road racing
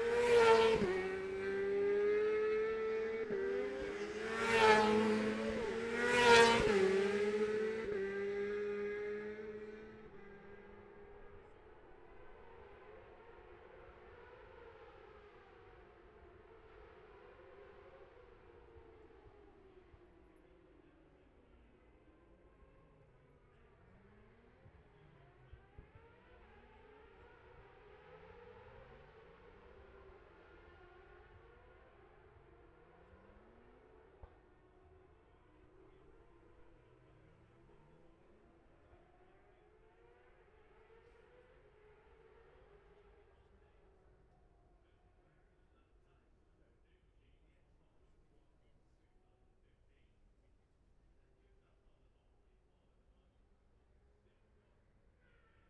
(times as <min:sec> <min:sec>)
0:00.0 0:21.1, 0:22.1 0:44.6